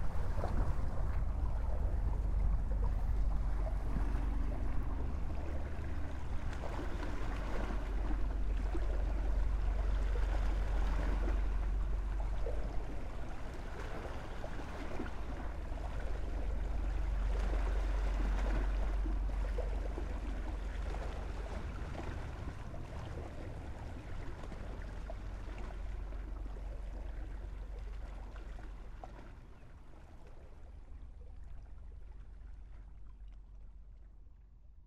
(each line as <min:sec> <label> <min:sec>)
0:00.0 big waves 0:27.4
0:00.0 big boat is passing by quicly 0:34.8